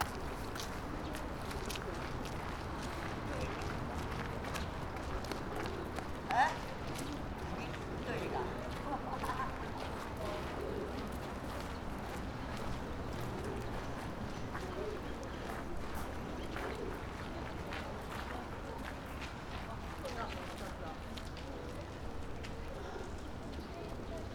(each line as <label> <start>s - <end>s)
conversations 5.7s - 10.9s